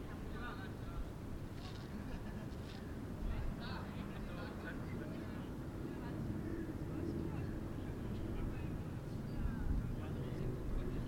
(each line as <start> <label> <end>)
0.0 voices 11.0
1.4 Bicycles 3.1